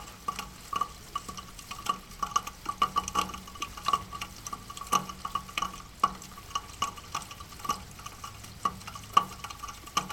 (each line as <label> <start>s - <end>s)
rain drops falling down the eaves gutter 0.0s - 10.1s